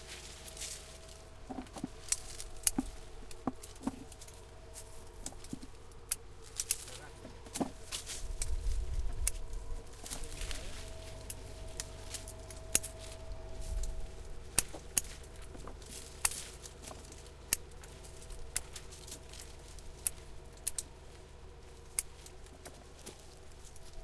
tractor 0.0 - 8.4
people working 0.0 - 24.0
tractor 9.1 - 24.0

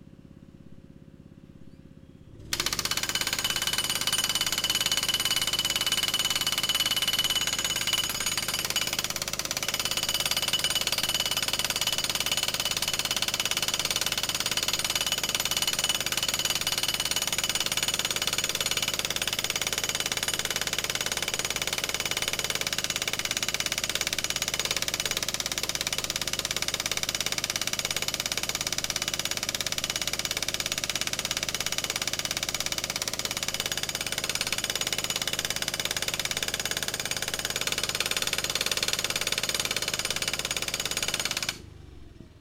hydraulic jackhammer 2.4 - 41.8
four stroke petrol (gasoline) engine 41.5 - 42.4

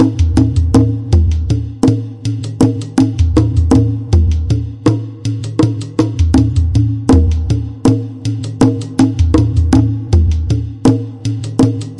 drum loop 0.0 - 11.9

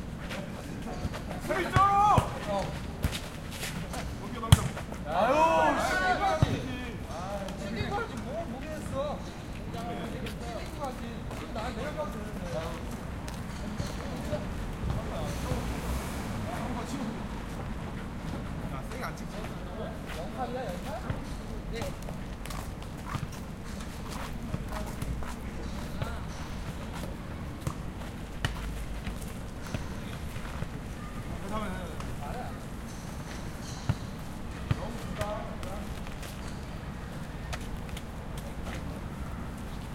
People playing football 0.2 - 15.7
People playing football 18.9 - 39.9

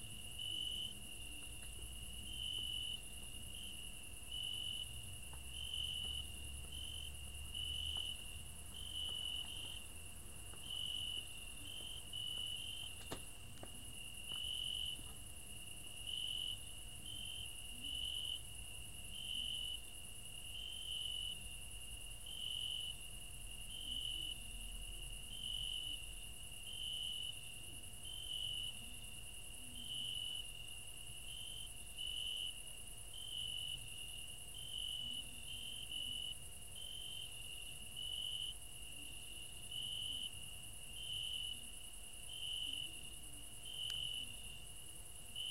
cricket 0.0 - 45.5

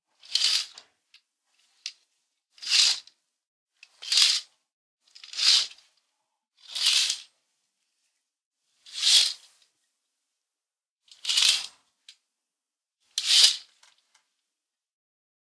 opening and closing curtains 0.2 - 0.8
opening and closing curtains 2.6 - 3.0
opening and closing curtains 5.1 - 6.0
opening and closing curtains 6.6 - 7.3
opening and closing curtains 11.2 - 11.8
opening and closing curtains 13.2 - 14.0

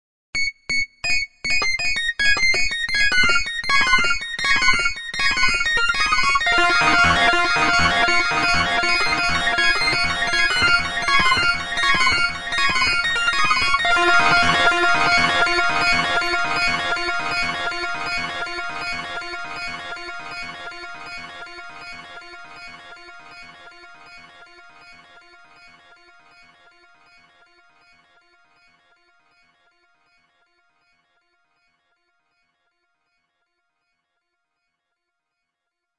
High pitched Synth 6.4 - 22.5

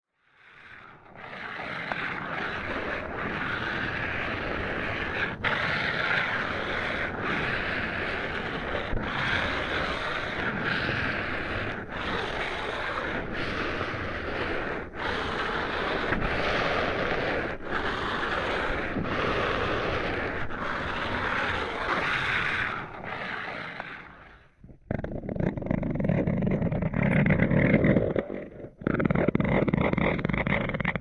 breath 0.2 - 24.7

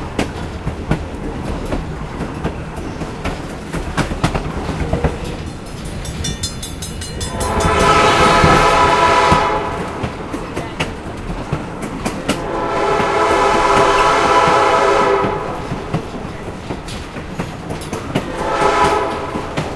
clickity-clackity track 0.0 - 19.7
train 0.0 - 19.7
train crossing 0.0 - 19.7
train whistle 7.2 - 10.1
train whistle 12.3 - 15.9
train whistle 18.2 - 19.7

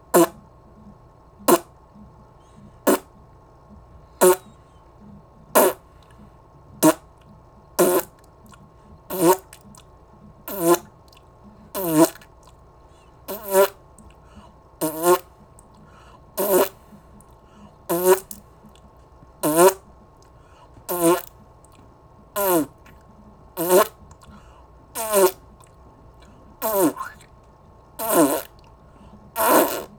cartoonish spit, bork or zork 0.1 - 0.4
cartoonish spit, bork or zork 1.5 - 1.7
cartoonish spit, bork or zork 2.9 - 3.1
cartoonish spit, bork or zork 4.2 - 4.5
cartoonish spit, bork or zork 5.6 - 5.8
cartoonish spit, bork or zork 6.8 - 7.0
cartoonish spit, bork or zork 7.8 - 8.2
cartoonish spit, bork or zork 9.1 - 9.6
cartoonish spit, bork or zork 10.5 - 10.9
cartoonish spit, bork or zork 11.8 - 12.3
cartoonish spit, bork or zork 13.3 - 13.8
cartoonish spit, bork or zork 14.8 - 15.3
cartoonish spit, bork or zork 16.4 - 16.8
cartoonish spit, bork or zork 17.9 - 18.4
cartoonish spit, bork or zork 19.4 - 19.8
cartoonish spit, bork or zork 20.9 - 21.3
cartoonish spit, bork or zork 22.4 - 22.9
cartoonish spit, bork or zork 23.6 - 24.0
cartoonish spit, bork or zork 25.0 - 25.4
cartoonish spit, bork or zork 26.6 - 27.3
cartoonish spit, bork or zork 28.0 - 28.6
cartoonish spit, bork or zork 29.4 - 29.9

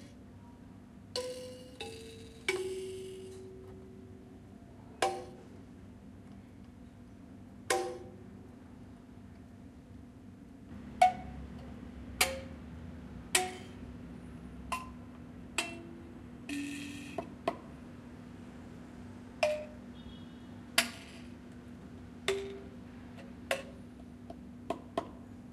room noise 0.0 - 25.5
Plucking and tapping a thumb piano 5.0 - 5.4
Plucking and tapping a thumb piano 7.7 - 8.2
Plucking and tapping a thumb piano 11.0 - 12.6
Plucking and tapping a thumb piano 14.7 - 17.7
Plucking and tapping a thumb piano 19.4 - 19.8
Plucking and tapping a thumb piano 22.2 - 25.2

